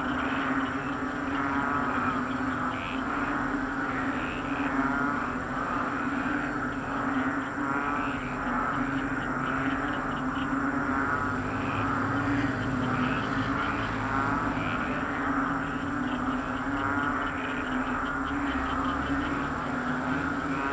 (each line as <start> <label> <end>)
0.0 cars 20.7
0.0 frogs in the field 20.7
8.7 motorcycles 20.7